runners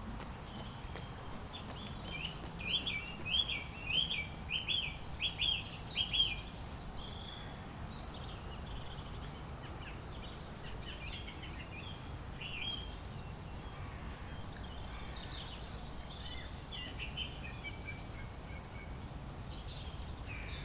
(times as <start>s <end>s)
0.0s 3.5s